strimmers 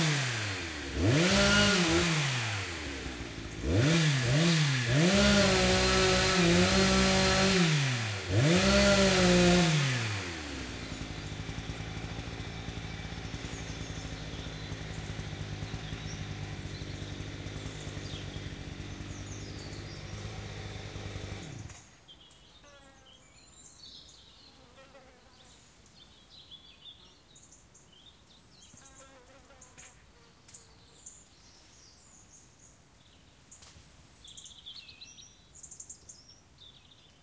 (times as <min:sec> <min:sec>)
0:00.0 0:21.9